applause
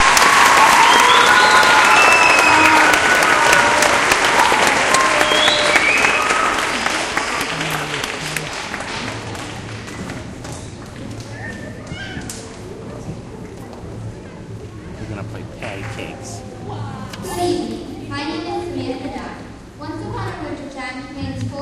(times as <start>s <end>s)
0.0s 10.4s